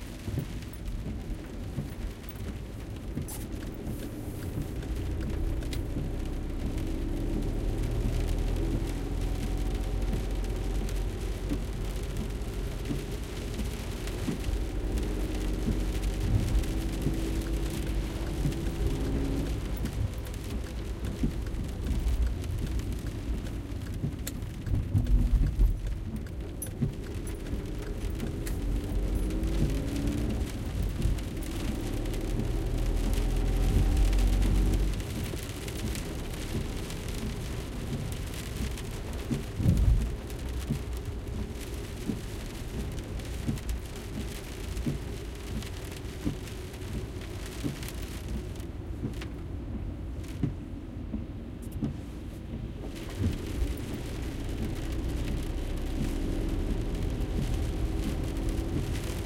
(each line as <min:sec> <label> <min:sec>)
0:00.0 driving 0:59.2
0:00.0 rain is getting more heavier 0:59.2